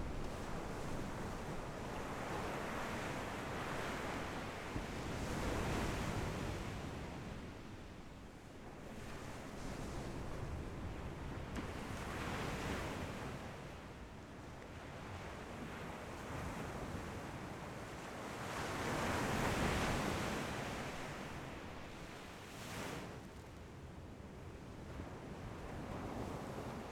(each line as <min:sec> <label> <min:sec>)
0:00.0 waves 0:26.9